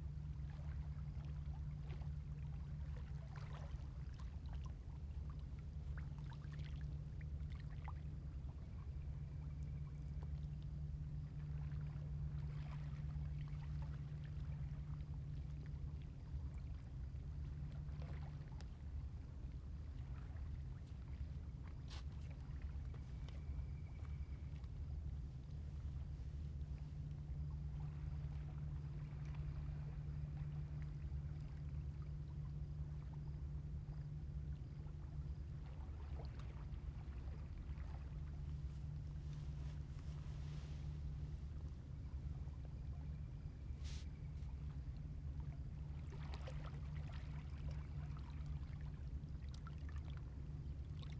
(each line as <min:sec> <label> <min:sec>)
0:00.0 Tide 0:51.1